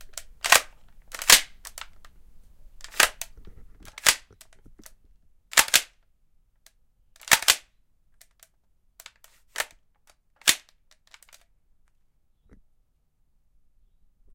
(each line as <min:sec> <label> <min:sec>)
0:00.1 Shotgun cocking 0:01.9
0:02.8 Shotgun cocking 0:03.3
0:03.9 Shotgun cocking 0:04.3
0:05.5 Shotgun cocking 0:05.9
0:07.2 Shotgun cocking 0:07.6